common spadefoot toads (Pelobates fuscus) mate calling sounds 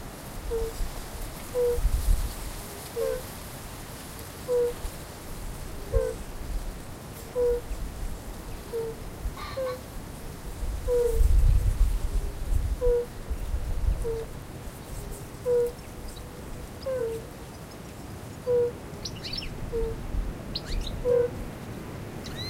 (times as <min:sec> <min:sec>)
0:00.5 0:00.8, 0:01.5 0:01.8, 0:03.0 0:03.3, 0:04.4 0:04.8, 0:05.8 0:06.2, 0:07.3 0:07.7, 0:08.6 0:09.8, 0:10.9 0:11.2, 0:12.8 0:13.2, 0:14.0 0:14.3, 0:15.4 0:15.8, 0:16.8 0:17.2, 0:18.4 0:20.0, 0:20.6 0:21.4